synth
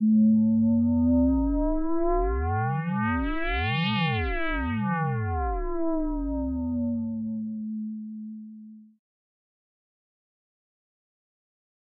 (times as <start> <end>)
0.0 8.9